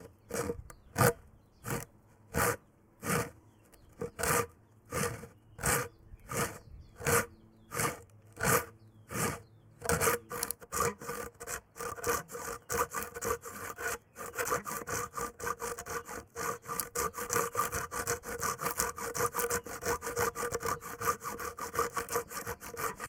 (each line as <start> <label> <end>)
0.0 Sawing a piece of wood with a hand saw 23.0